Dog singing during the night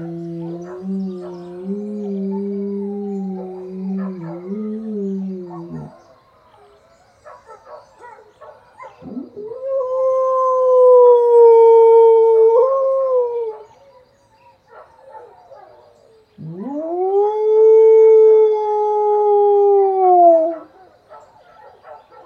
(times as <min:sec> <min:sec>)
0:00.0 0:06.0